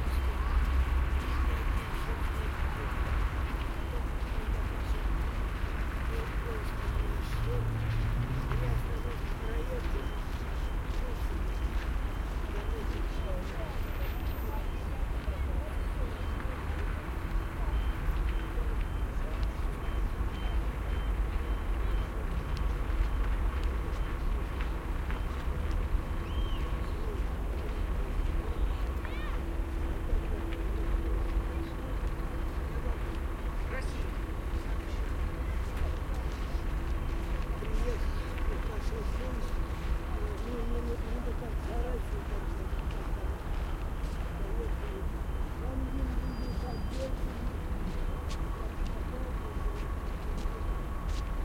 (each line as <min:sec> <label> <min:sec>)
0:00.0 crowd walking and talking russian 0:51.4
0:28.6 children 0:29.6